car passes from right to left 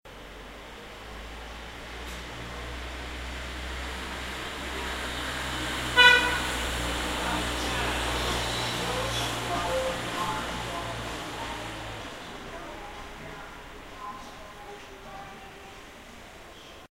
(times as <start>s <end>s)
0.2s 12.5s